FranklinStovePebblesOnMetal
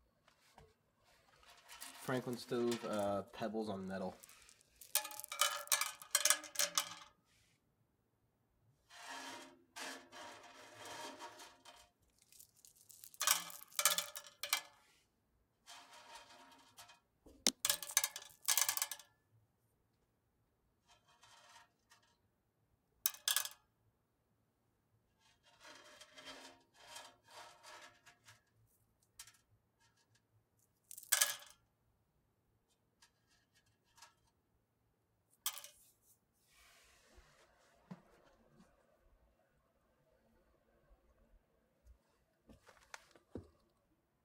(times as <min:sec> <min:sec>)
0:00.6 0:07.3, 0:09.2 0:14.8, 0:15.7 0:19.0, 0:25.4 0:31.6, 0:35.4 0:36.0